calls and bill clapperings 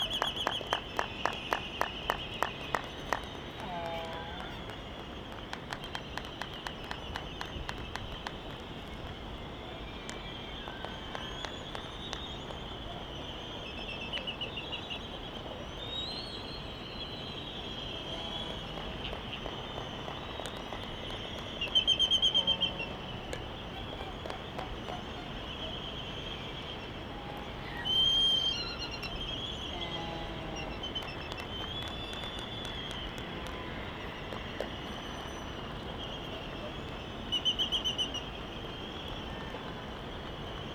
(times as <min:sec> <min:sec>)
0:00.0 0:13.1, 0:18.4 0:25.9, 0:29.6 0:37.1